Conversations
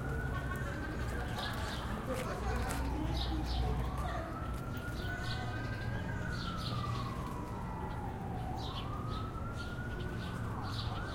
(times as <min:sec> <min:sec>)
0:00.2 0:06.6